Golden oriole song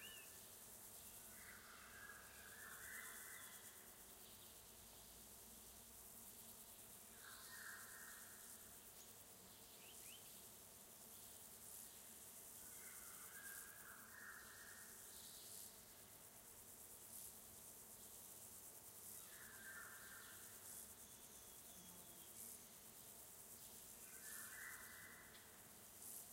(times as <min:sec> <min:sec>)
0:00.0 0:00.4